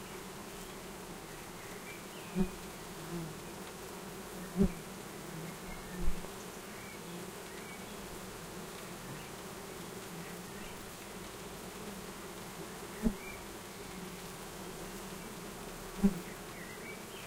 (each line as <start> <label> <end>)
0.0 Domestic Bee Hive 17.2